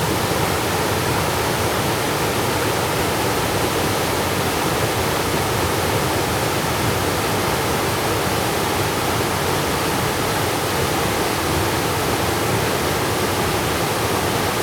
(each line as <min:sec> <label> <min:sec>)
0:00.0 waterfalls 0:14.6